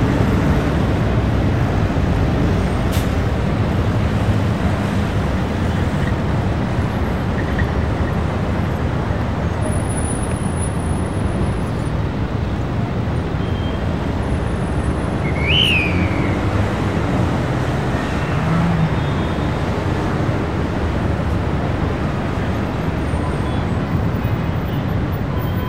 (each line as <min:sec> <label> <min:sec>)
0:00.0 traffic 0:25.6
0:15.2 occassional whistles of a police man 0:16.4